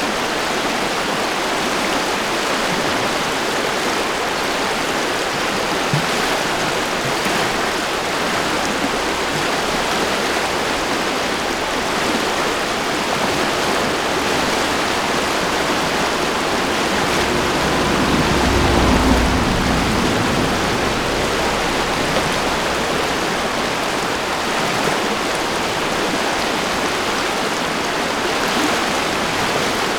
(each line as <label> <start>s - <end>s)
river 0.0s - 29.9s